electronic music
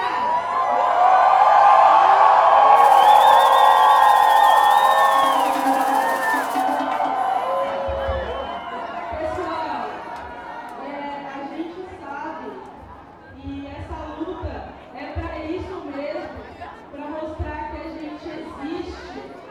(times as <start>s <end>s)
2.8s 7.0s